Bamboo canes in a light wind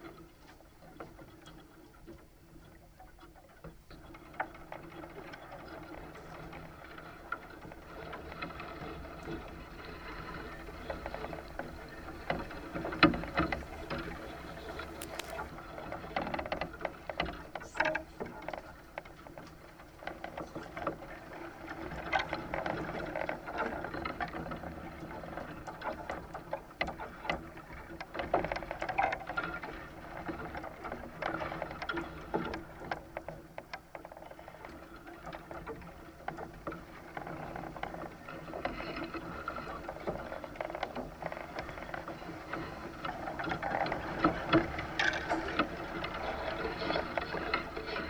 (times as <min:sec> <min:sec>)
0:08.0 0:15.8